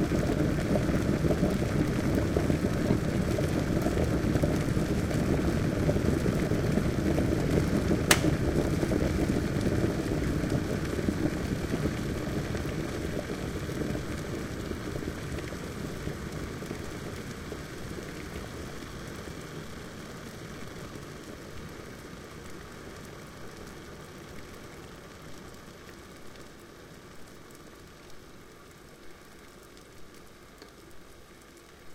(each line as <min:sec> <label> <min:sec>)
0:08.1 click 0:08.3
0:08.1 Electric Water Kettle Finale 0:08.4